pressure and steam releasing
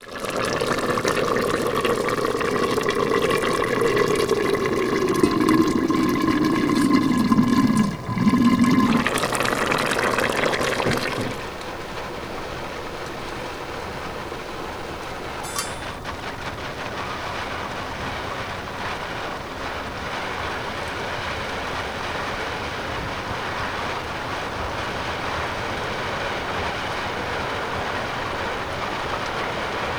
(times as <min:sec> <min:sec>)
0:00.0 0:21.0